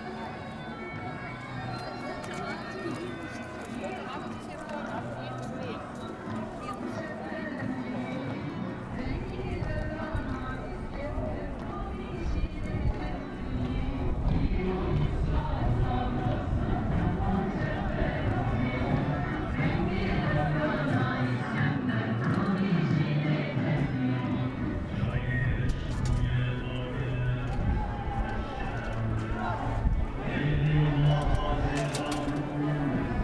0.0s kurdish demonstration against arms transfer to turkey 33.2s

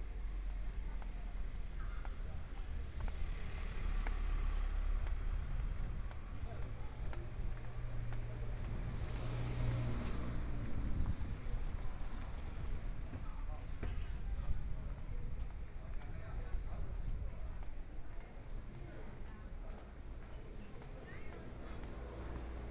0.0s walking on the Road 22.7s
0.1s Traffic Sound 14.4s
20.0s Traffic Sound 22.7s

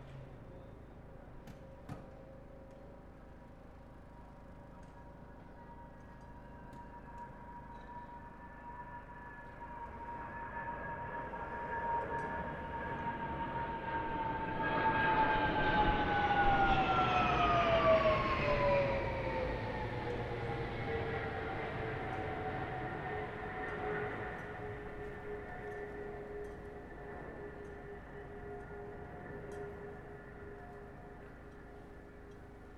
8.6s quieter plane formations, building to very loud 32.7s

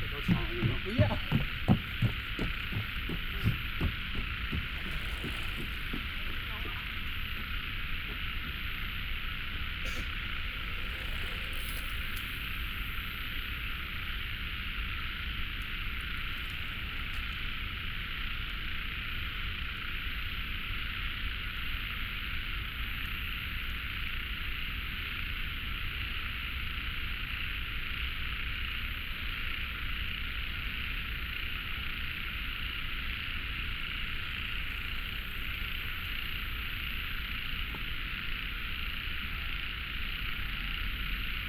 0.0s Birdsong 7.4s
0.0s Traffic Sound 7.6s
0.0s Bicycle through 8.6s
0.0s Running sound 18.6s
0.0s Frogs 41.4s
9.3s Bicycle through 14.4s
9.7s Birdsong 14.0s
15.0s Bicycle through 17.9s

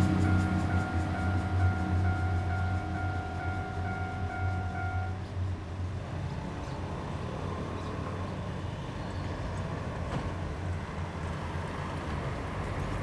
0.0s Cicadas sound 5.3s
0.0s Traffic Sound 13.0s
0.0s Train traveling through 13.0s

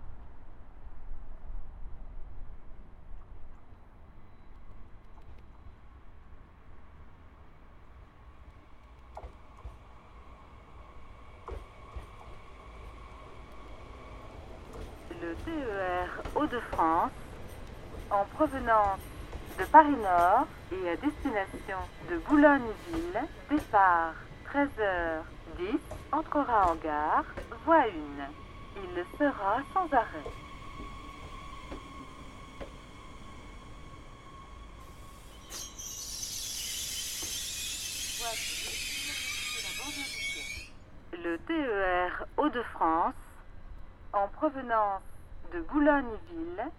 0.0s départ et arrivée des trains 46.7s

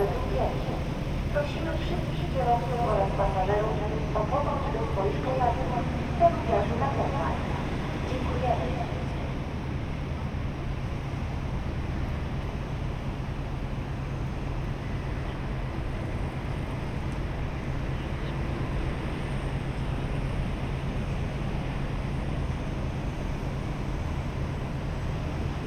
0.0s PA announcements 10.0s
0.0s lorries 25.6s

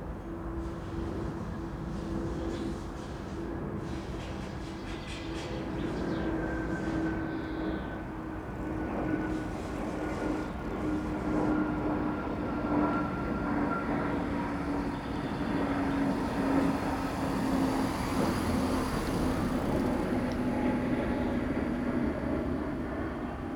0.0s constant background of traffic 23.5s
0.0s plane 23.5s
11.0s Passing cyclists 23.5s
12.0s electric-car 23.5s
14.6s scooters 22.3s

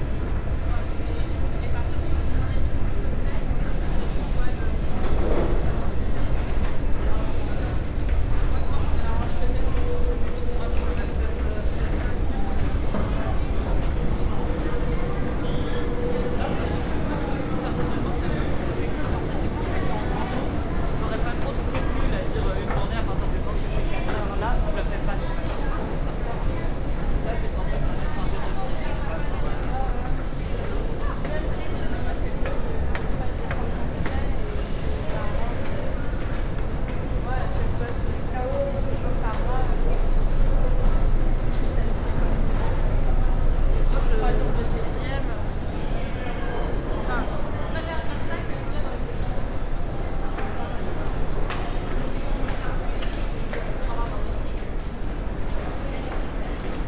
0.0s Metro ride 56.8s

